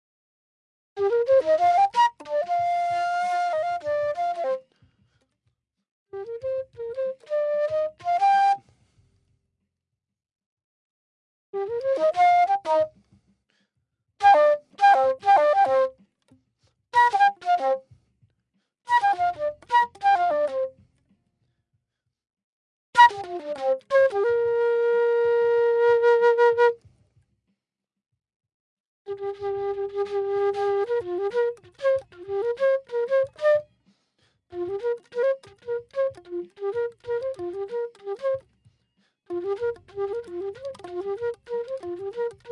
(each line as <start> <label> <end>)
1.0 flute playing 4.7
6.1 flute playing 8.7
11.6 flute playing 13.0
14.2 flute playing 16.0
17.0 flute playing 17.8
18.9 flute playing 20.8
23.0 flute playing 26.8
29.1 flute playing 33.7
34.5 flute playing 38.5
39.3 flute playing 42.5